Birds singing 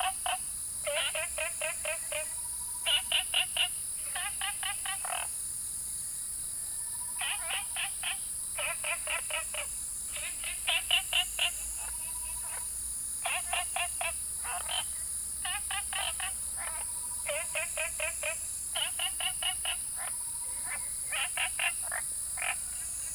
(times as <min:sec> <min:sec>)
0:07.0 0:23.1